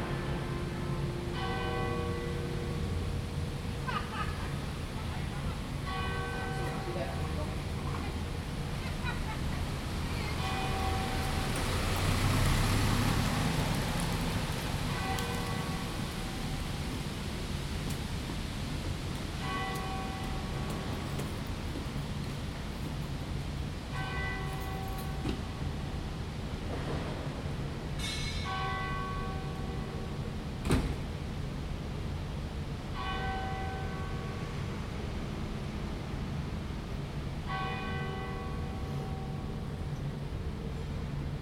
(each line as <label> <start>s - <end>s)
Prayer Bell 0.0s - 3.6s
Prayer Bell 5.8s - 7.7s
Prayer Bell 10.4s - 11.9s
Prayer Bell 14.9s - 16.8s
Prayer Bell 19.4s - 21.4s
Prayer Bell 23.9s - 25.9s
Prayer Bell 28.0s - 30.4s
Prayer Bell 33.0s - 34.9s
Prayer Bell 37.4s - 40.1s